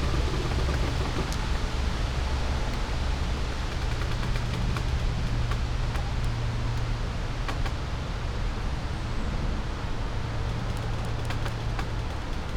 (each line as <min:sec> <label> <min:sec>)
0:00.0 creaks 0:06.9
0:00.0 distant traffic hum 0:12.5
0:00.0 winds 0:12.5